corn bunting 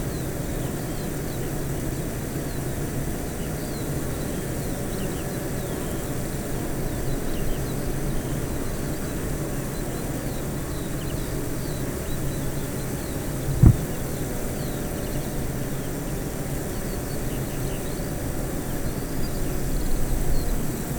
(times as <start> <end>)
13.5 14.0